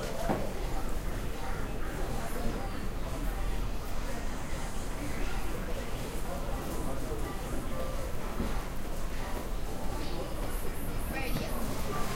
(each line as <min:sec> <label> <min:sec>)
0:09.2 people talking 0:12.1